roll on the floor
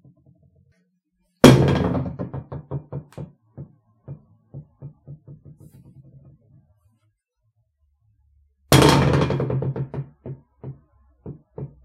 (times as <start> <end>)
1.5 6.9, 8.8 11.8